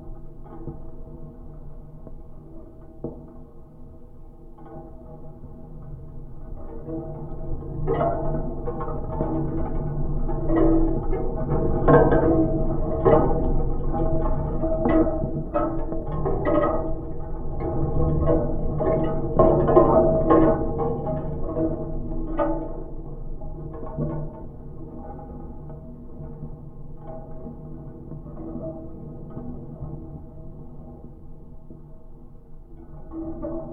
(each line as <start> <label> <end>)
0.0 wind/cinetic sculpture 33.7